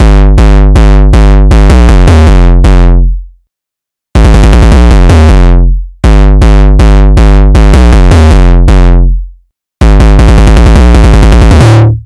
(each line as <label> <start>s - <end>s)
Gabber Hardcore Kick 0.0s - 3.3s
Gabber Hardcore Kick 4.2s - 12.0s